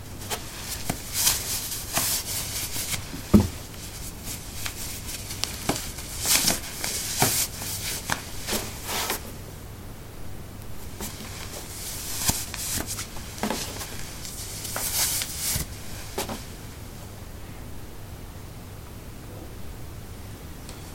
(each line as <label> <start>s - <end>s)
Putting socks on/off on a wooden floor 0.2s - 3.9s
footsteps 0.2s - 4.1s
Putting socks on/off on a wooden floor 11.0s - 16.6s